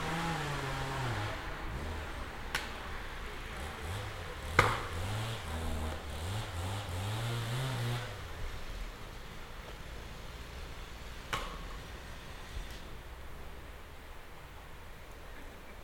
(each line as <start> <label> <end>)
0.0 cutting wood 2.8
3.6 cutting wood 8.2